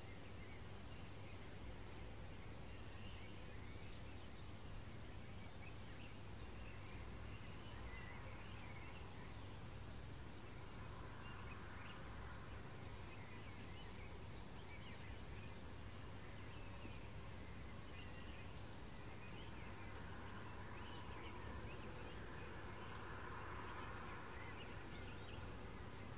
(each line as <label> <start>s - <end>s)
Cicadas 0.0s - 26.1s
Birds begin to sing 10.6s - 23.0s